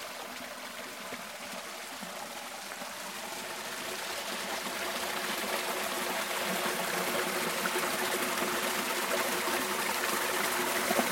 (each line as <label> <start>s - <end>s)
water flows in a béal 0.0s - 11.1s